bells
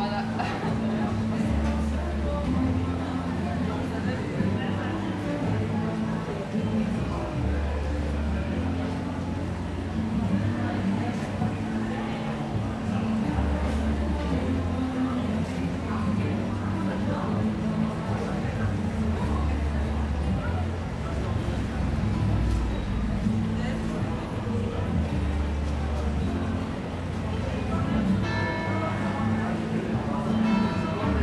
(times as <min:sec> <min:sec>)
0:27.4 0:31.2